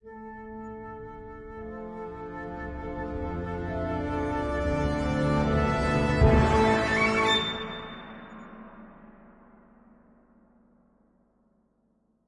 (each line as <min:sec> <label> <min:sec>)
0:00.0 Flute 0:08.4